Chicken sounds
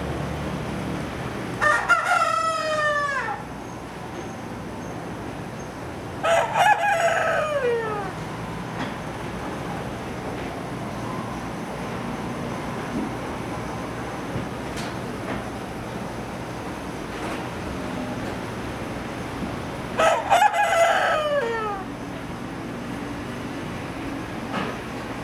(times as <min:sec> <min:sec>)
0:06.2 0:08.2, 0:20.0 0:22.0